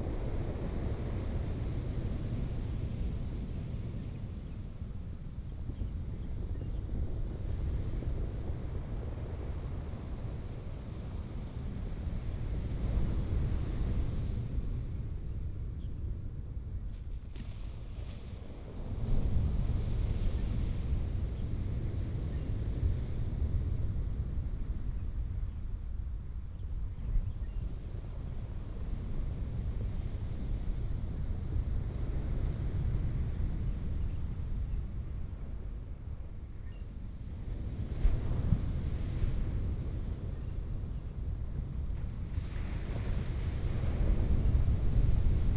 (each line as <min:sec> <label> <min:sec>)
0:17.0 waves 0:24.8
0:27.8 waves 0:45.5